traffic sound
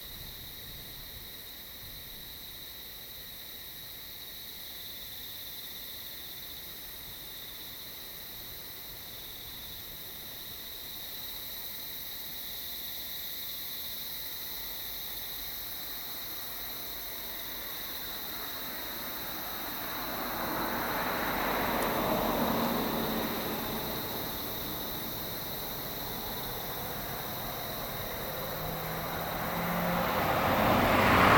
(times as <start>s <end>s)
15.4s 31.3s